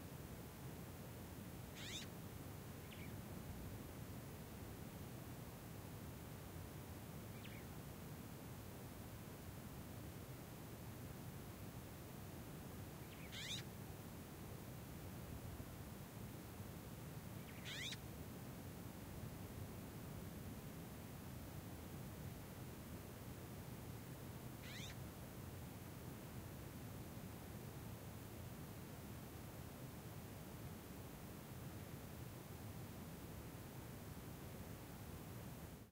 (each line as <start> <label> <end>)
1.8 Birds call/response 2.1
13.1 Birds call/response 13.7
17.5 Birds call/response 18.0
24.6 Birds call/response 25.0